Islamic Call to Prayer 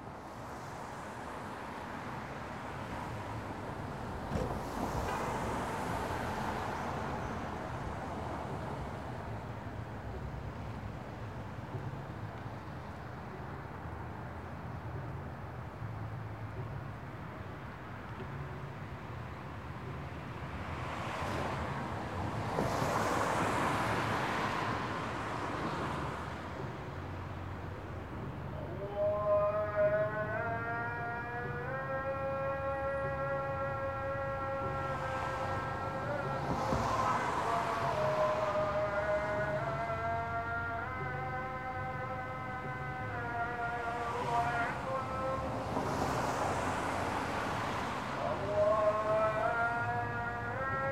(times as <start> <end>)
28.0 50.9